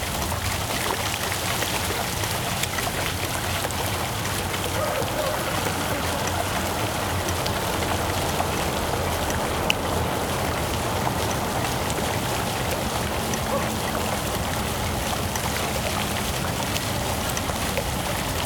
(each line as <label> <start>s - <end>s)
Fountain with sculptures 0.0s - 18.4s
distant voices 2.0s - 18.4s
tram in the background 4.3s - 15.4s